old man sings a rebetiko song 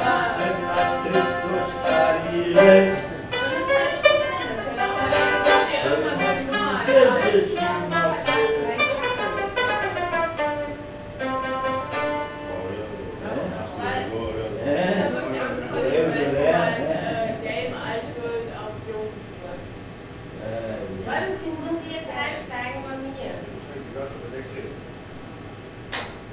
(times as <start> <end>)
0.0 3.1